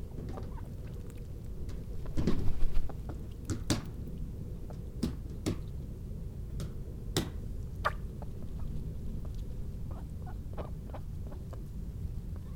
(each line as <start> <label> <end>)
0.1 ducks they flap and quack 4.0